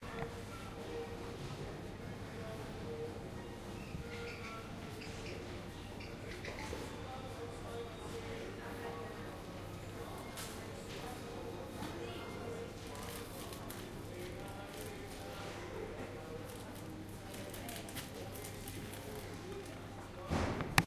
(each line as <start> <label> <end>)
0.0 people 20.8